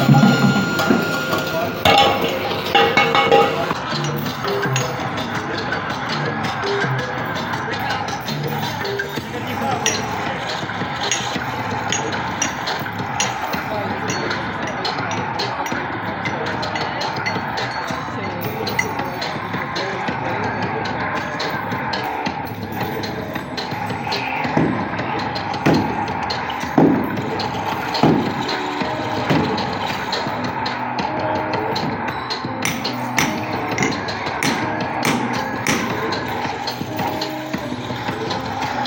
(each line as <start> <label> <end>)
0.0 noise perfomance 38.8